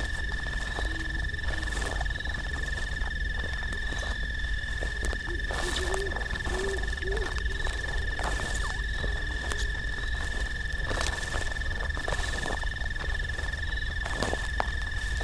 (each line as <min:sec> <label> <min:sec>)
0:00.0 screech owls 0:14.0
0:00.0 great horned owls 0:15.2